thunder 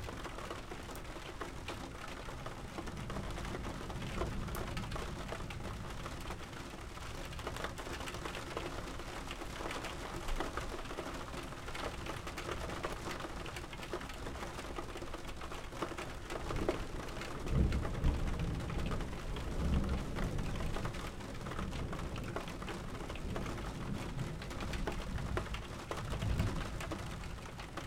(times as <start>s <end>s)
17.4s 20.9s